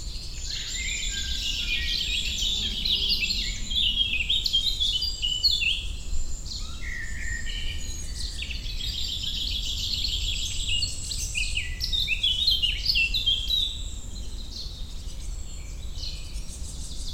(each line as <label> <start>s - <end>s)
Blackbird 0.0s - 17.1s
Eurasian Blackcap 0.0s - 17.1s